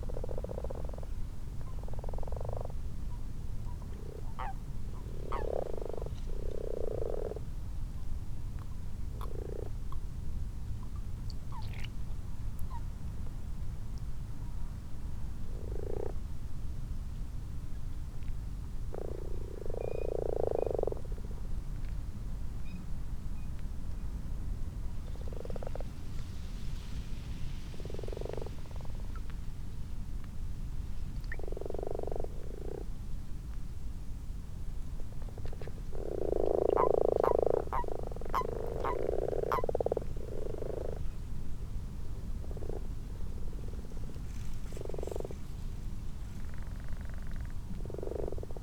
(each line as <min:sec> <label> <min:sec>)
0:00.0 common toads 0:02.8
0:00.0 common frogs 0:08.0
0:03.7 common toads 0:07.6
0:08.7 common frogs 0:10.2
0:09.1 common toads 0:10.0
0:10.8 common frogs 0:13.0
0:15.2 common frogs 0:16.4
0:15.5 common toads 0:16.3
0:18.7 common frogs 0:21.5
0:18.8 common toads 0:21.2
0:24.9 common frogs 0:26.2
0:25.0 common toads 0:26.2
0:27.6 common frogs 0:29.3
0:27.6 common toads 0:29.3
0:31.2 common frogs 0:33.0
0:31.2 common toads 0:32.9
0:35.0 common frogs 0:41.3
0:35.2 common toads 0:41.2
0:42.1 common frogs 0:48.6
0:42.3 common toads 0:48.6